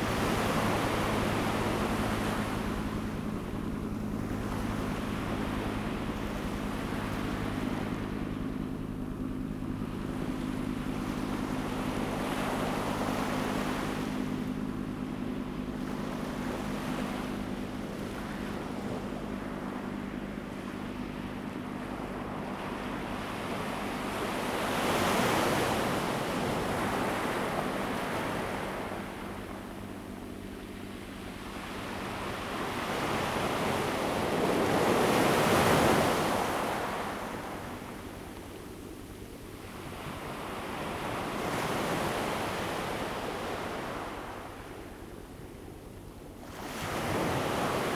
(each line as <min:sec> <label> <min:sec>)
0:00.0 waves 0:47.9